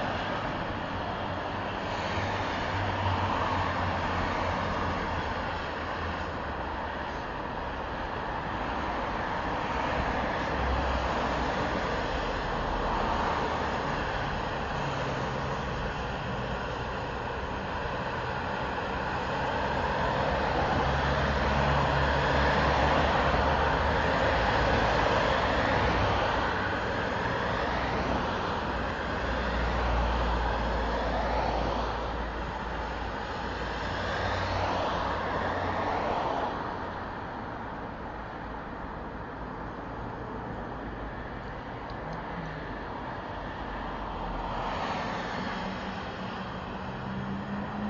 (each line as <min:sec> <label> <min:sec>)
0:00.0 traffic 0:47.8